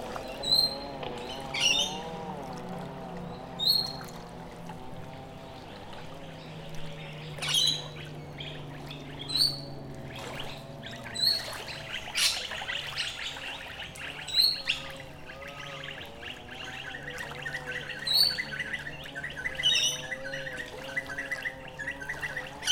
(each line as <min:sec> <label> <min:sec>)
0:00.0 people trim their lawns 0:05.6
0:00.0 Noisy Miners call in the surrounding trees 0:22.7
0:00.0 Waves softly lap 0:22.7
0:00.0 motorboats rush across the water 0:22.7
0:00.3 Rainbow Lorikeets 0:02.2
0:06.0 Rainbow Lorikeets 0:22.7